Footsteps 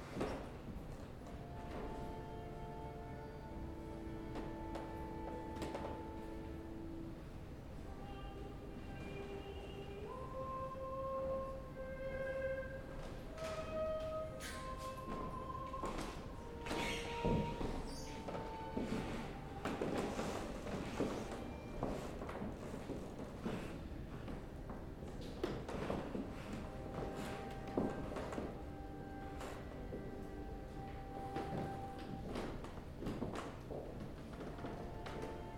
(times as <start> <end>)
3.6 6.6, 12.9 35.5